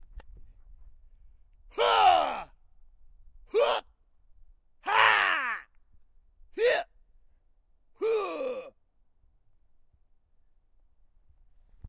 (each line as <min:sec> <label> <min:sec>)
0:01.8 Kung Fu Scream 0:02.5
0:04.8 Kung Fu Scream 0:05.7